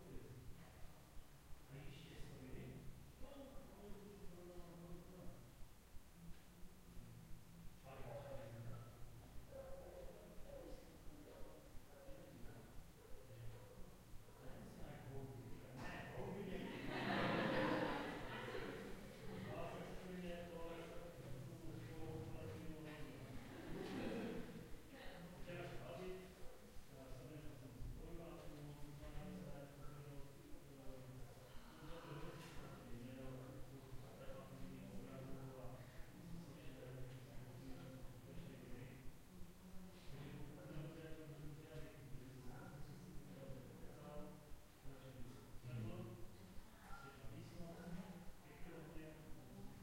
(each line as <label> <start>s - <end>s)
people chatting in another room 0.0s - 49.8s